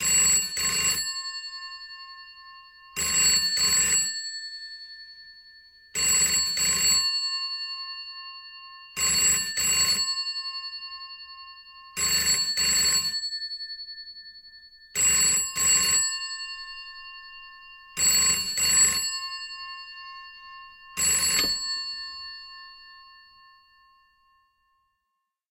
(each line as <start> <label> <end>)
12.0 Restored vintage Ericsson telephone 13.2
21.0 Restored vintage Ericsson telephone 22.3